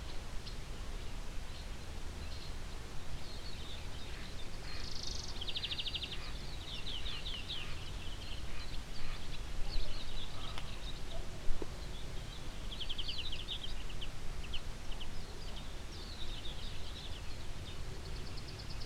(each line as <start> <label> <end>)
0.0 mellow morning wind 18.8
0.0 morning birds 18.8